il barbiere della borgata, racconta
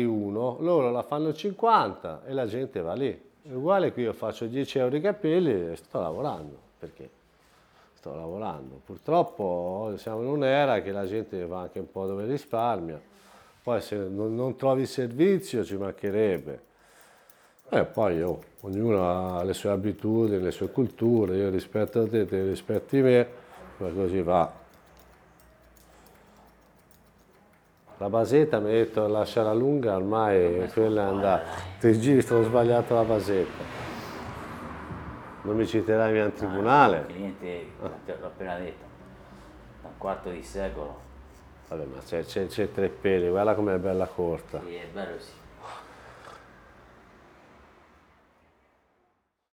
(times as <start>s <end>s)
25.8s 34.6s